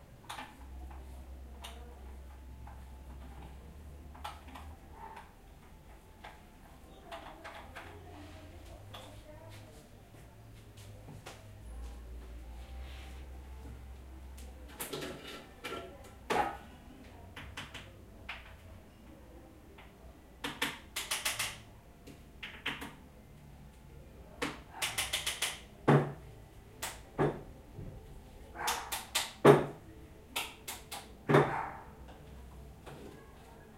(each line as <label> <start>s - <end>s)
máquina de café 0.0s - 33.7s